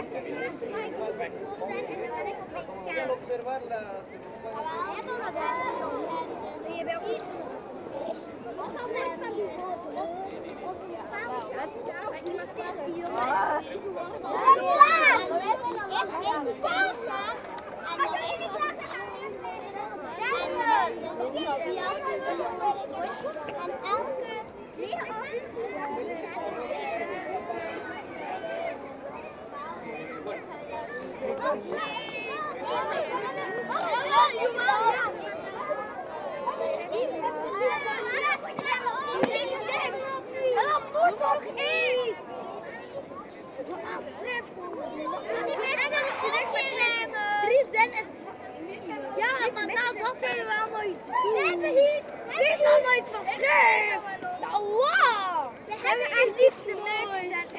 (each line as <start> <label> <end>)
31.3 Boy scouts playing 57.5